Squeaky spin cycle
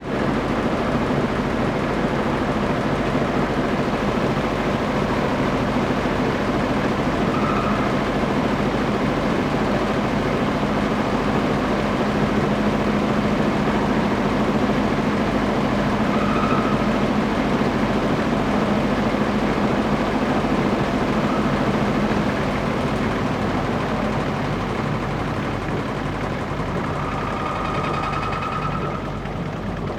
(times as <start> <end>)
6.7 8.8, 13.1 29.9